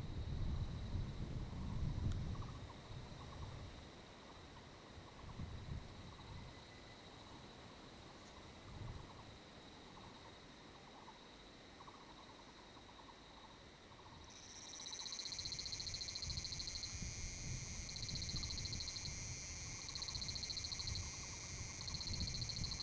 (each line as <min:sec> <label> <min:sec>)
0:14.3 Cicadas cry 0:22.8